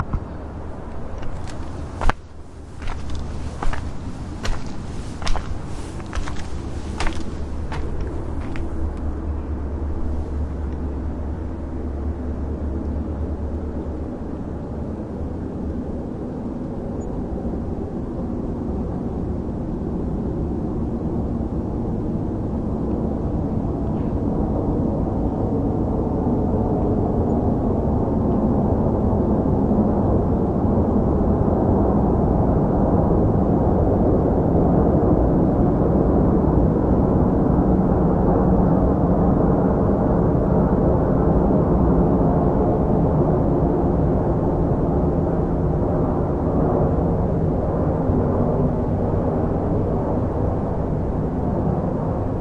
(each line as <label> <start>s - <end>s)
Plane Overhead 0.0s - 52.4s